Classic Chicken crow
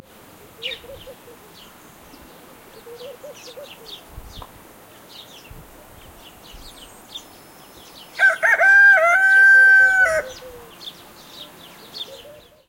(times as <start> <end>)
8.2 10.7